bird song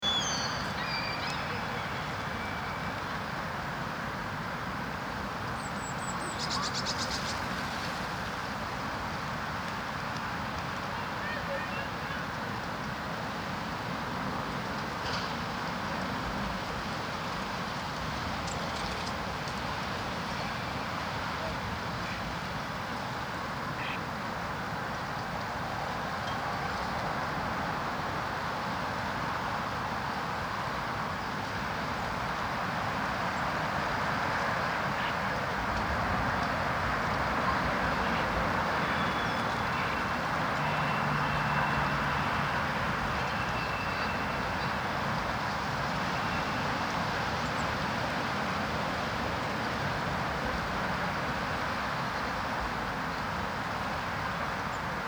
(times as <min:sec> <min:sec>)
0:00.0 0:03.1, 0:38.8 0:42.5, 0:43.1 0:44.9